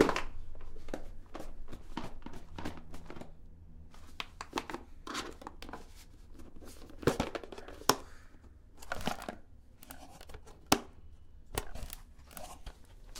0.0s Plastic Box 13.1s

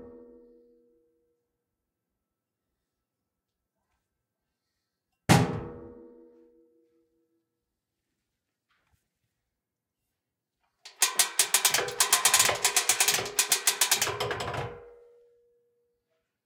10.9s Hearty metallic ratcheting and clunking sounds 15.0s

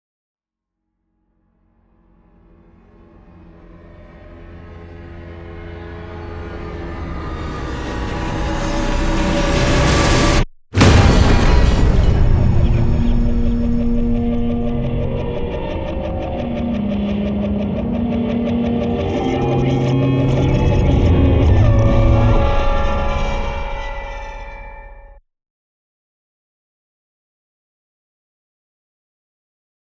2.8s Dark Trailer Impact 25.0s

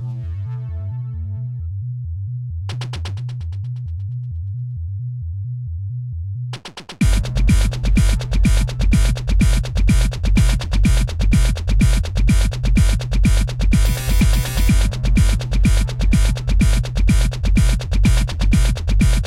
0.0s bass 19.2s
6.6s drum 19.2s
7.0s synth 19.2s

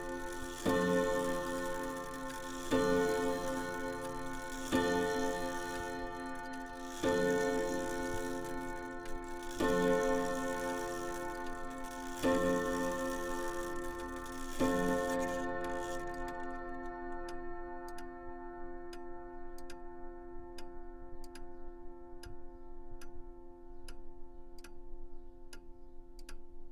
0.0s clockwork mechanism pendulum swinging 18.1s

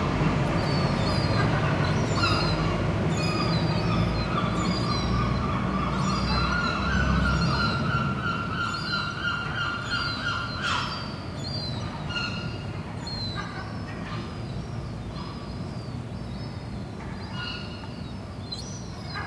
0.0s Seagulls 14.5s
17.0s Seagulls 17.9s

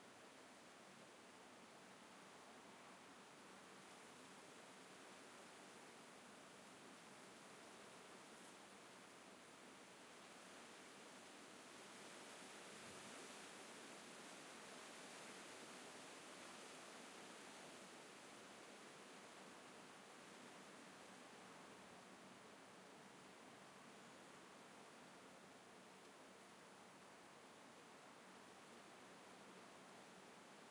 0.0s Palm Trees in the Wind 30.7s

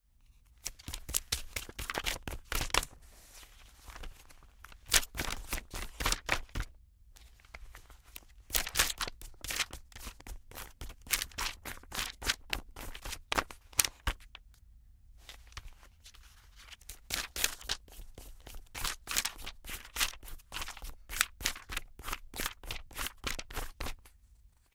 0.6s Magazine Glossy Page Flip Fast 6.7s
7.4s Magazine Glossy Page Flip Fast 14.4s
15.3s Magazine Glossy Page Flip Fast 24.0s

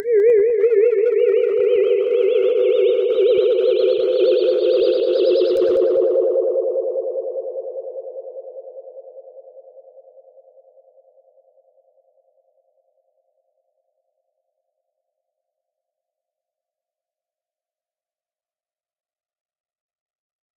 0.0s space ship echo noise 8.6s

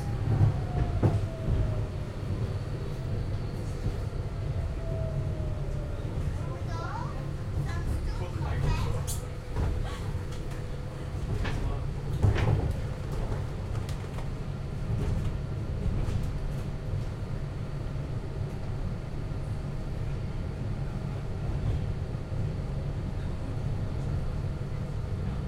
0.0s tram 25.4s

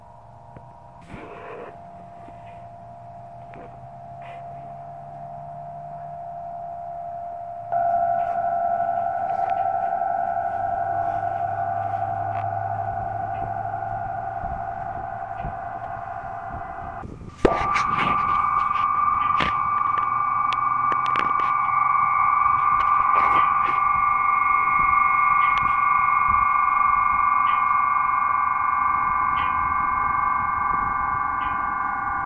0.0s traffic noise 6.6s
0.0s Wind was resonating the strings 32.2s
0.0s sirens 32.2s
8.9s traffic noise 26.2s

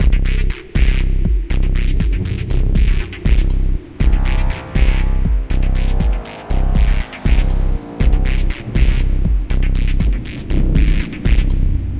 0.0s drum 11.6s
0.0s bass 11.9s

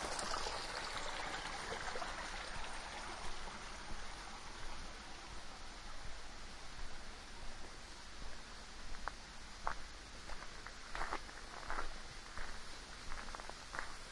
0.0s small water-fall 14.1s
0.0s stream 14.1s
7.6s foot steps 14.0s

